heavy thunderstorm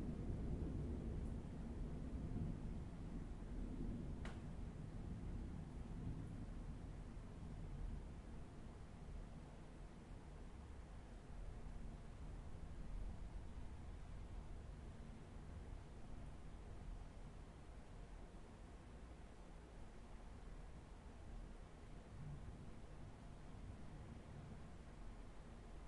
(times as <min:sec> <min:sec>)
0:00.0 0:08.3